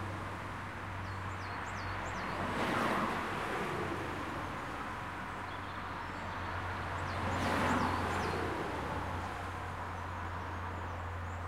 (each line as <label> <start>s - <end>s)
Traffic 0.0s - 11.4s